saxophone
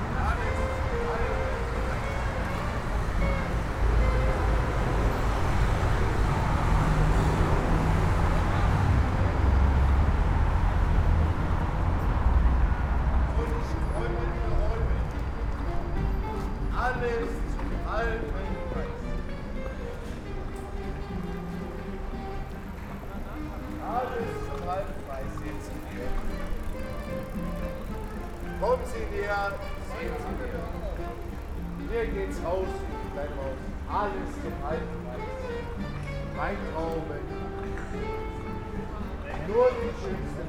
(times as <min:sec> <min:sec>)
0:00.0 0:08.8